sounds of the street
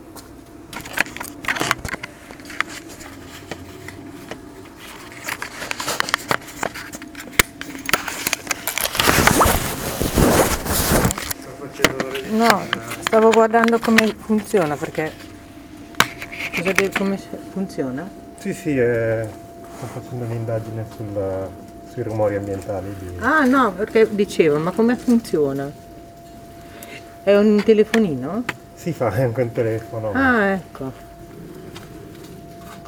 29.7s 32.8s

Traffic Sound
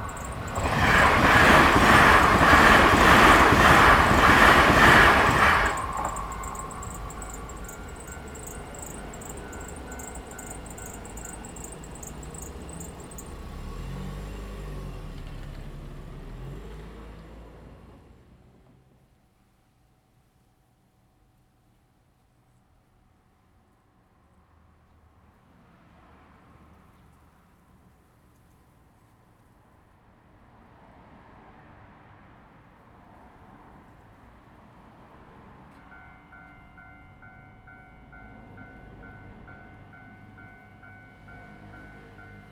0.0s 16.9s, 30.6s 42.5s

